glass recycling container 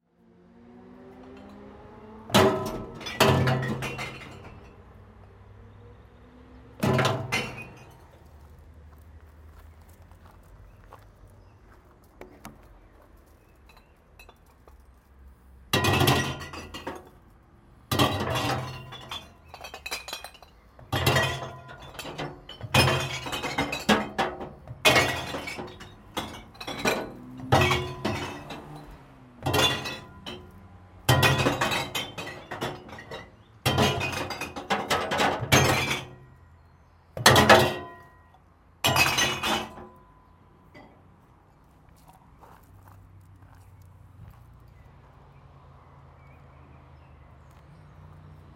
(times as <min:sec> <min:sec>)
0:02.3 0:04.8, 0:06.8 0:08.0, 0:15.8 0:17.2, 0:17.9 0:36.2, 0:38.8 0:40.0